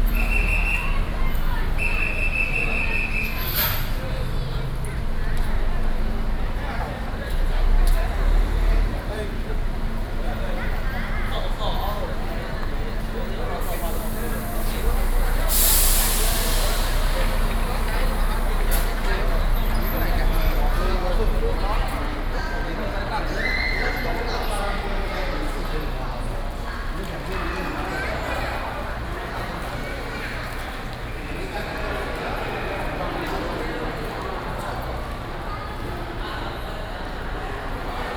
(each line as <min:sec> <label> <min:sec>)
0:13.5 Train message broadcasting 0:21.2